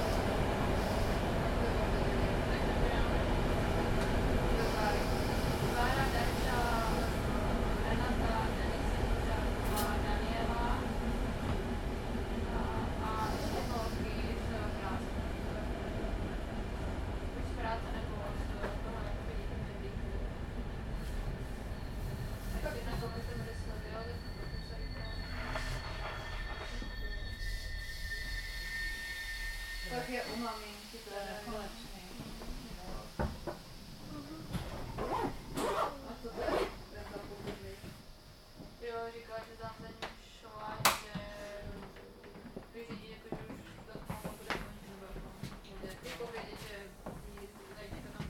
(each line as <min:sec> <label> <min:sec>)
0:01.6 people chatting 0:03.2
0:04.5 people chatting 0:10.9
0:12.5 people chatting 0:15.7
0:17.4 people chatting 0:20.3
0:22.5 people chatting 0:25.7
0:29.8 people chatting 0:33.2
0:35.6 people chatting 0:38.0
0:38.8 people chatting 0:48.2